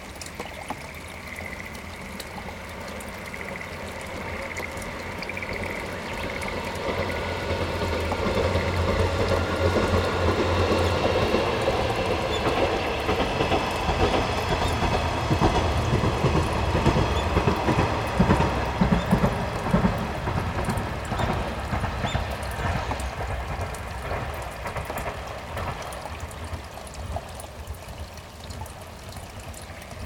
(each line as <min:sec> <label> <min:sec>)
0:00.0 tiny invisible frogs that would sing out in unison 0:08.8
0:00.0 river 0:30.0
0:00.5 passing train in the distance 0:30.0